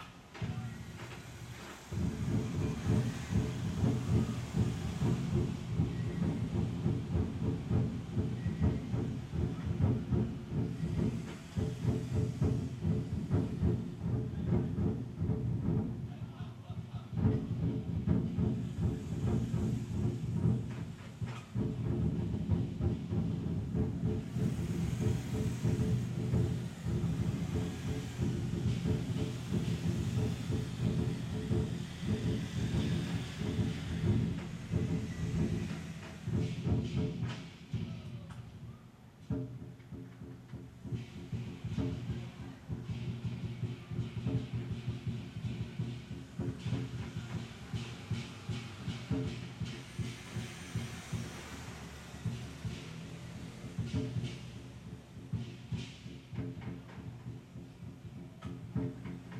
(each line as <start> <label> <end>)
0.0 cars passing by 14.4
0.0 drums group were practicing 59.3
17.4 cars passing by 37.8
40.0 cars passing by 58.4